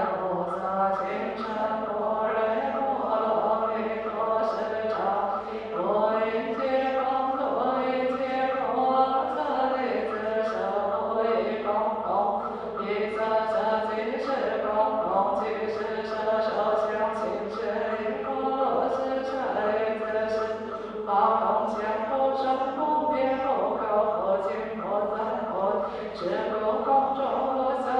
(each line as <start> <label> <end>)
0.0 Singing 27.9